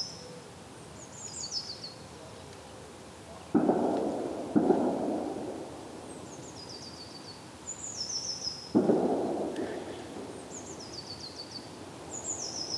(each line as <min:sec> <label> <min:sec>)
0:03.5 distant clay pigeon shooting 0:06.0
0:08.7 distant clay pigeon shooting 0:11.0